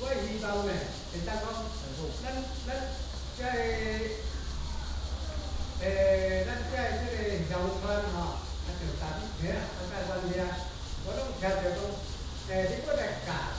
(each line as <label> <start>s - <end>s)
Old people introduce traditional fishing tools 0.0s - 4.3s
Cicadas sound 0.0s - 13.5s
Traffic sound 0.0s - 13.5s